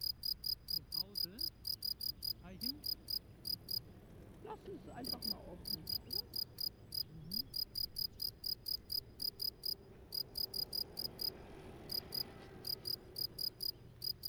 Crickets singing 0:00.0 - 0:03.8
Crickets singing 0:05.0 - 0:11.3
Cyclists passing 0:09.0 - 0:14.2
Crickets singing 0:11.9 - 0:14.2

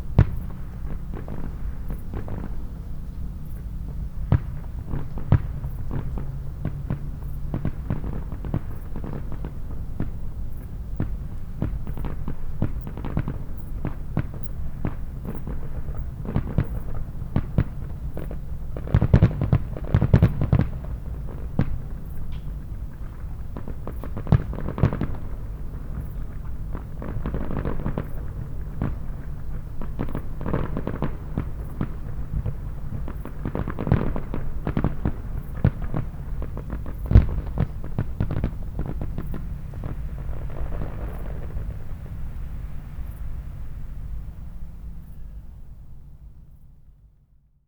distant fireworks display echoes across the shallow valley 0:00.0 - 0:47.6

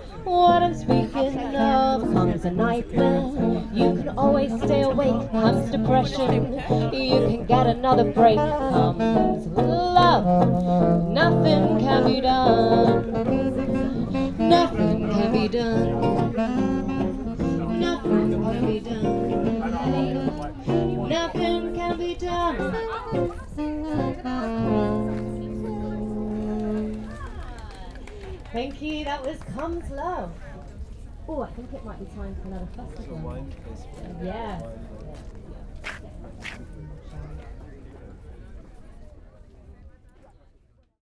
singer performed 0:00.0 - 0:27.2

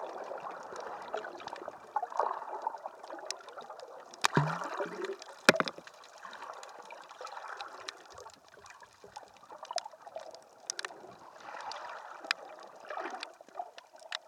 throwing pebbles into the water 0:04.2 - 0:06.4

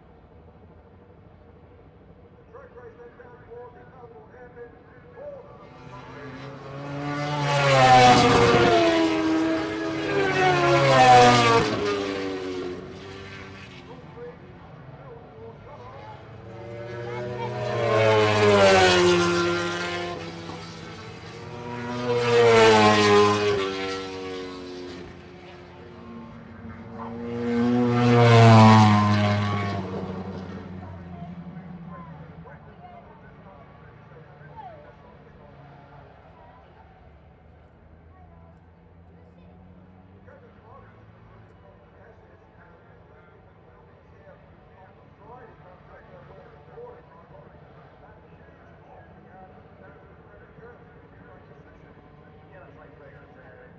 motorcycle grand prix 0:00.0 - 0:53.7

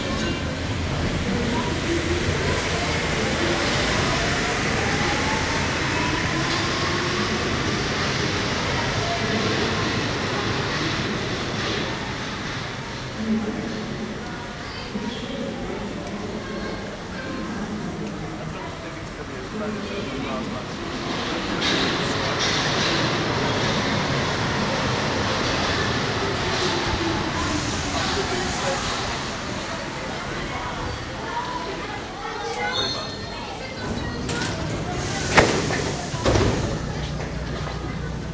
wind 0:00.0 - 0:38.3
Metro trip 0:20.5 - 0:38.3

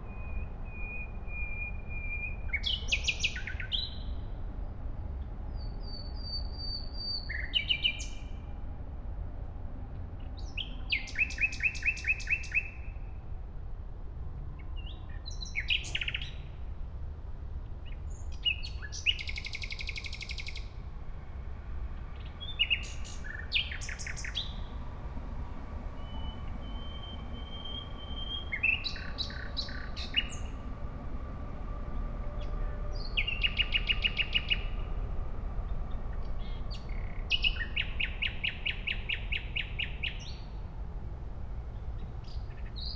traffic 0:00.0 - 0:42.9
trains 0:00.0 - 0:42.9

